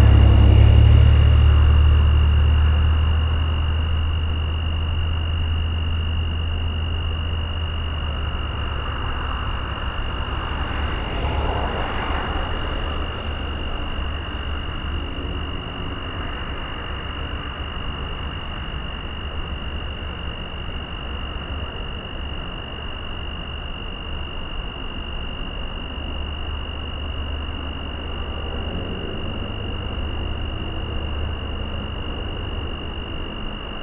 Insects 0.0 - 33.8
Road traffic 0.0 - 33.8

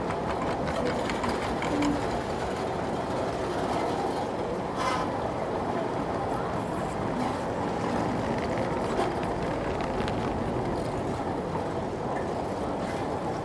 baggage belt noise 7.0 - 11.8

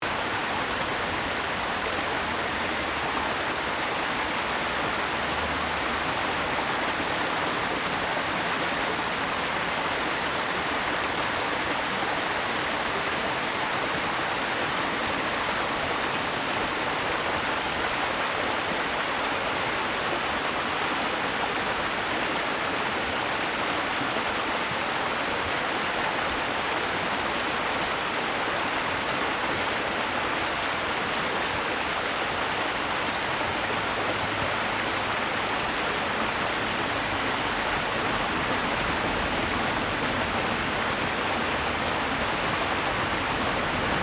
Stream 0.0 - 44.0
Traffic Sound 0.8 - 9.9
Traffic Sound 33.2 - 44.0

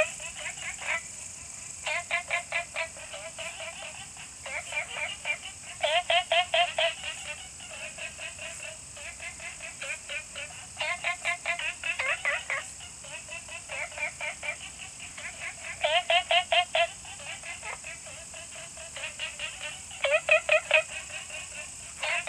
Frog calls 0.0 - 22.2
Insect sounds 0.0 - 22.2

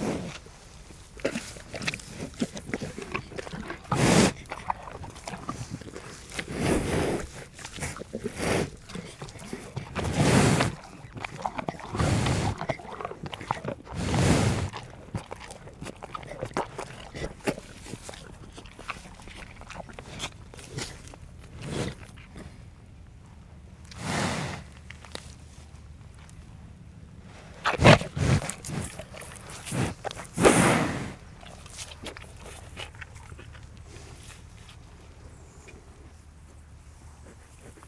cow is eating apples 0.0 - 37.8

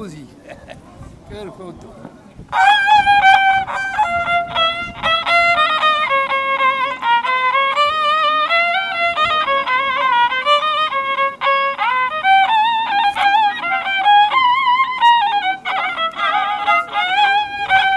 musician playing a violin 2.4 - 17.9

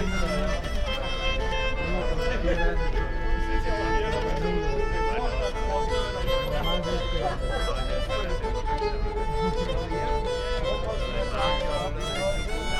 busker with an ancient instrument 0.0 - 12.7

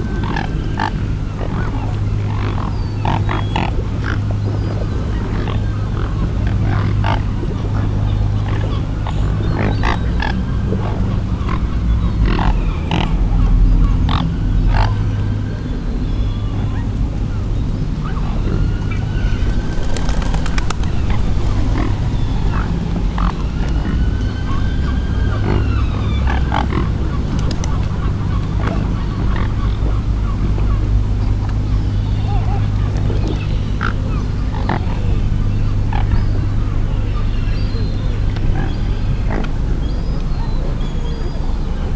gathering of swans 0.0 - 41.9
motor boat passes 0.0 - 41.9

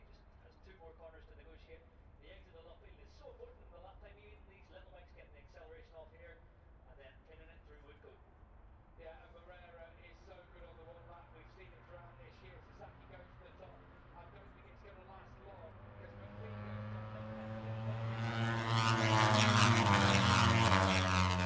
motorcycle grand prix 9.9 - 21.4

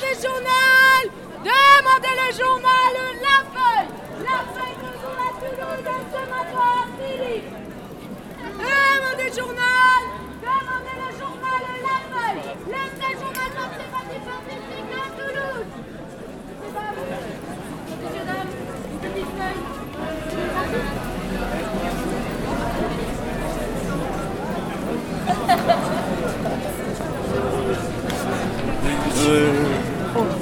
people are walking 3.2 - 30.4

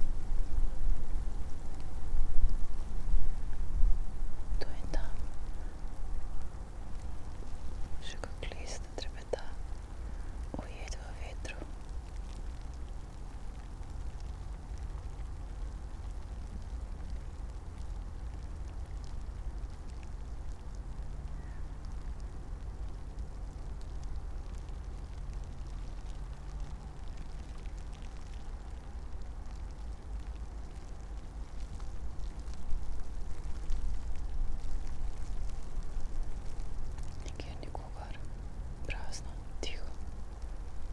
light snow 0.0 - 40.9
wind 0.0 - 40.9
spoken words and whisperings 4.5 - 5.8
spoken words and whisperings 8.0 - 9.7
spoken words and whisperings 10.4 - 11.9
spoken words and whisperings 37.2 - 40.0

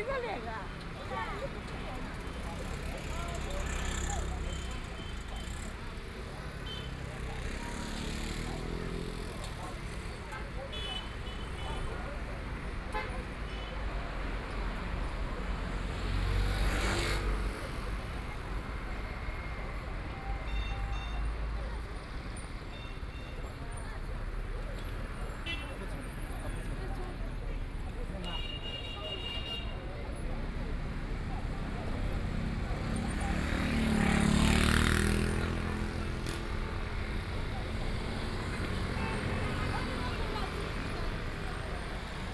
The crowd gathered on the street 0.0 - 42.3
Traffic Sound 0.0 - 42.3

